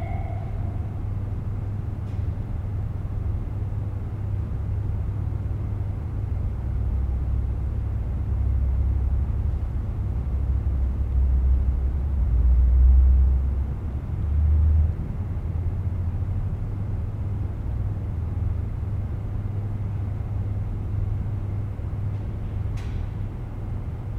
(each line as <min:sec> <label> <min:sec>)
0:00.0 bridge 0:01.6